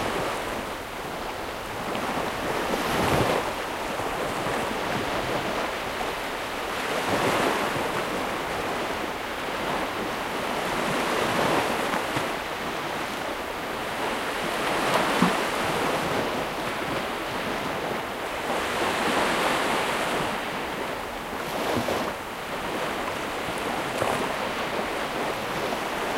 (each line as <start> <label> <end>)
0.0 waves 26.1
0.0 wind 26.1